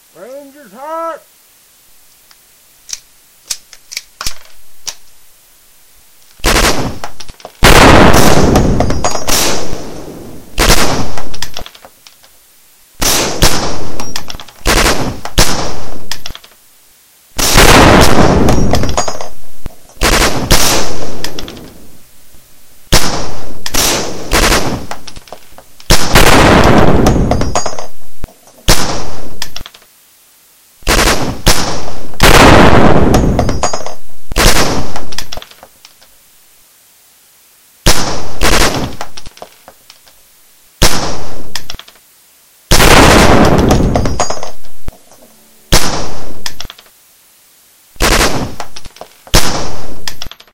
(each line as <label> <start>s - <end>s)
50 cal anti-materiel rifle 2.8s - 5.1s
loading sounds 2.8s - 5.1s
50 cal anti-materiel rifle 6.3s - 12.4s
m16 on 3-rounds burst 6.4s - 9.8s
m16 on 3-rounds burst 10.5s - 11.6s
m16 on 3-rounds burst 13.0s - 16.0s
50 cal anti-materiel rifle 13.0s - 16.6s
50 cal anti-materiel rifle 17.4s - 22.0s
m16 on 3-rounds burst 20.0s - 21.9s
loading sounds 21.2s - 21.9s
m16 on 3-rounds burst 22.9s - 25.0s
50 cal anti-materiel rifle 22.9s - 29.9s
m16 on 3-rounds burst 25.8s - 27.8s
m16 on 3-rounds burst 30.8s - 33.6s
50 cal anti-materiel rifle 30.8s - 36.1s
m16 on 3-rounds burst 34.3s - 35.1s
m16 on 3-rounds burst 37.8s - 39.1s
50 cal anti-materiel rifle 37.8s - 40.2s
m16 on 3-rounds burst 42.7s - 44.3s
50 cal anti-materiel rifle 42.7s - 47.0s
loading sounds 43.6s - 47.0s
50 cal anti-materiel rifle 48.0s - 50.5s
m16 on 3-rounds burst 48.0s - 48.7s
loading sounds 50.0s - 50.5s